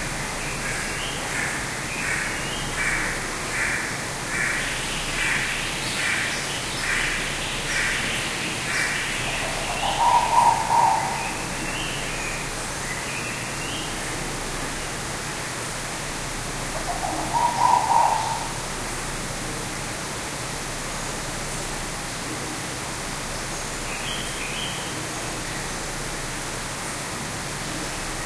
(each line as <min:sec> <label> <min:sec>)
0:00.0 waterfall 0:28.2
0:00.4 Collared Finchbill 0:13.9
0:00.5 Purple-throated Fruitcrow 0:12.5
0:08.8 White-bellied Go-away-bird 0:12.0
0:16.7 Purple-throated Fruitcrow 0:18.7
0:16.8 Collared Finchbill 0:18.6
0:16.8 White-bellied Go-away-bird 0:18.6